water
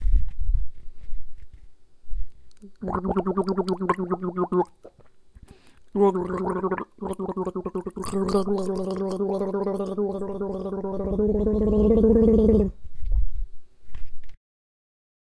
2.6s 5.0s, 6.0s 12.7s

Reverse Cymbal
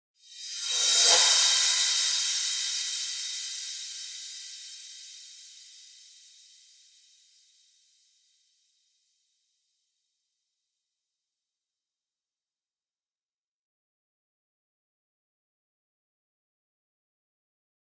0.2s 8.1s

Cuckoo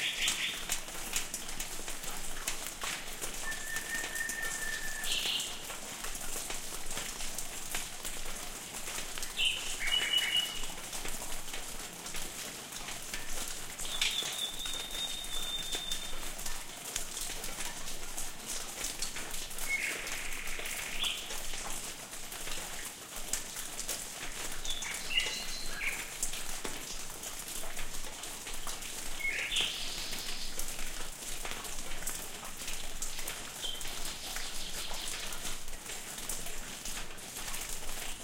3.4s 5.4s

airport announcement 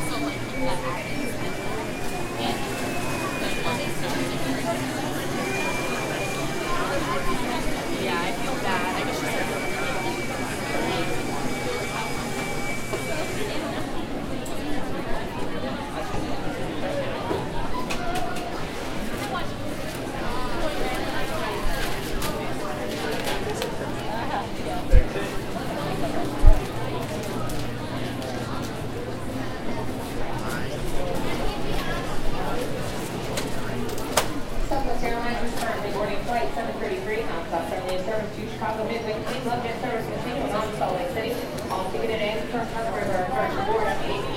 0.0s 14.4s

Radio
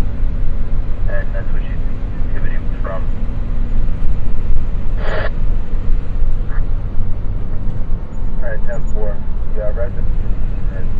1.1s 3.1s, 5.0s 5.4s

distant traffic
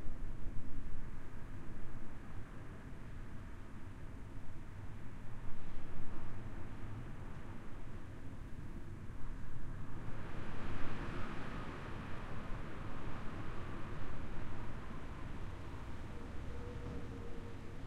14.8s 17.8s

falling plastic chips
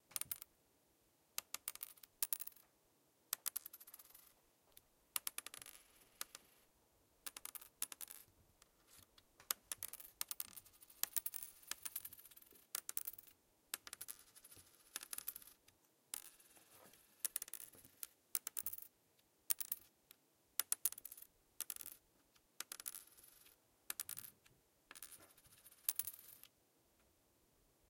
5.2s 6.4s, 16.1s 16.5s, 17.2s 18.8s, 22.6s 24.3s

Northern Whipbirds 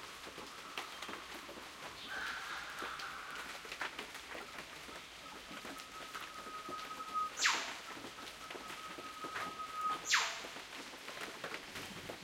4.4s 10.6s

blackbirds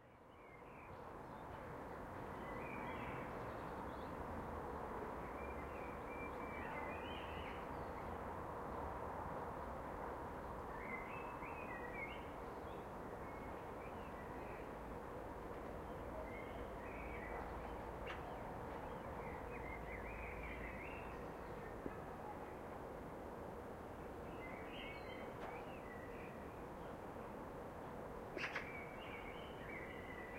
28.3s 30.3s

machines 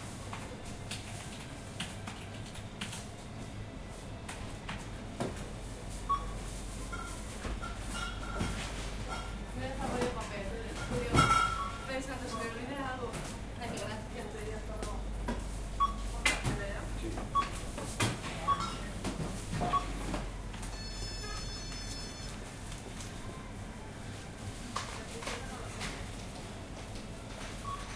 16.5s 27.9s

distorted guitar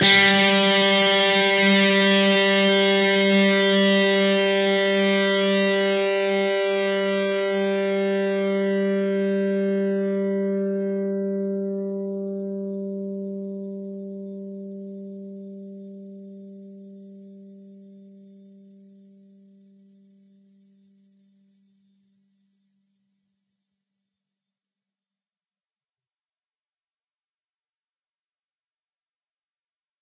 0.0s 19.6s

